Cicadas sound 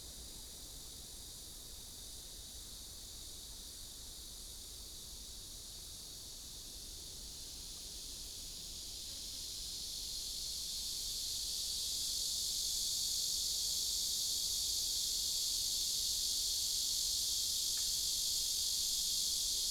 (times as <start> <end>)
9.0 19.7